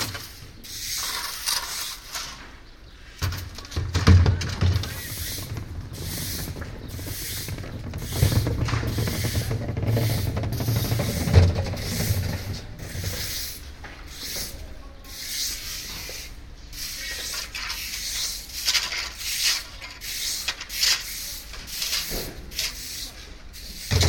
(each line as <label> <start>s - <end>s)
workers scratching resistant dirt from the streets with iron rakes 0.0s - 3.8s
workers scratching resistant dirt from the streets with iron rakes 4.4s - 24.0s